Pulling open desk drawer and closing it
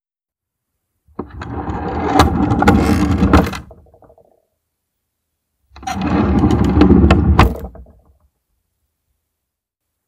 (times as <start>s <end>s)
1.1s 3.7s, 5.8s 7.7s